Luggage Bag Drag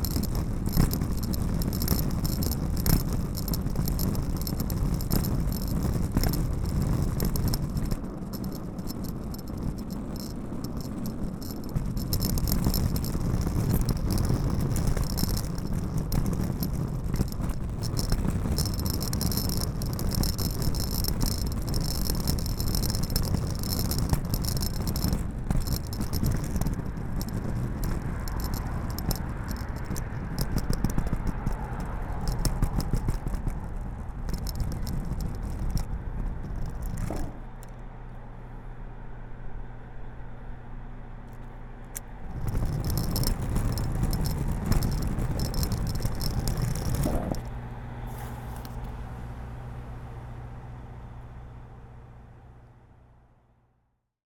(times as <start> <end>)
36.5 37.5